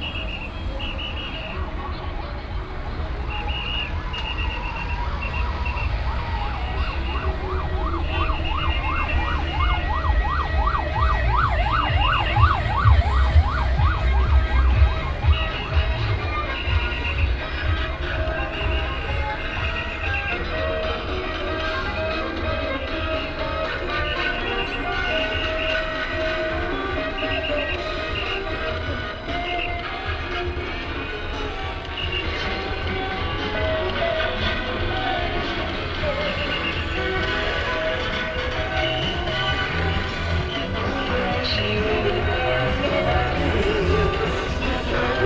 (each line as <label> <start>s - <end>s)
Whistle sound 0.0s - 1.6s
Traffic sound 0.0s - 45.2s
Whistle sound 3.3s - 17.3s